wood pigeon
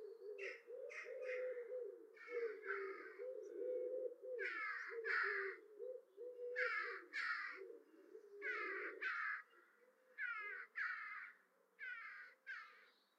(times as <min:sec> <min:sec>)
0:00.0 0:09.4